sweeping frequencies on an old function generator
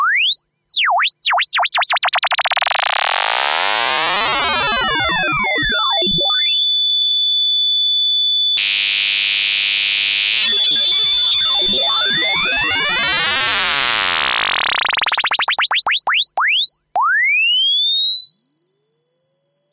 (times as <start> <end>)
2.2 7.2, 8.6 16.1